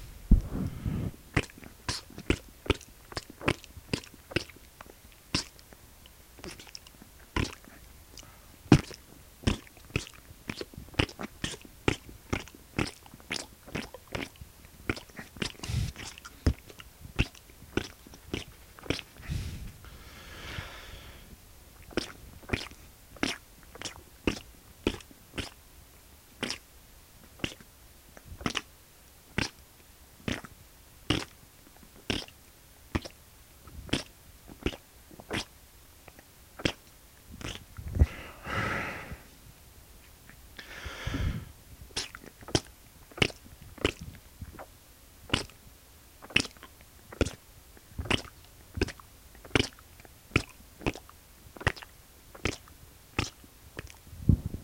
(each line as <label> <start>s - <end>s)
occasional breath 0.0s - 1.2s
wet, ploppy squishy noises with my mouth 1.2s - 19.8s
occasional breath 7.6s - 8.6s
occasional breath 15.6s - 16.6s
occasional breath 19.2s - 21.4s
wet, ploppy squishy noises with my mouth 21.7s - 25.6s
wet, ploppy squishy noises with my mouth 26.3s - 38.2s
occasional breath 37.9s - 39.4s
wet, ploppy squishy noises with my mouth 40.1s - 54.1s
occasional breath 40.6s - 41.6s